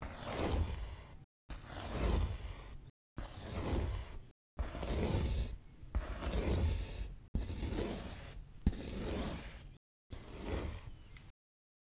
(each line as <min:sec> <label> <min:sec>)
0:03.2 Pencil stroke wide 0:11.0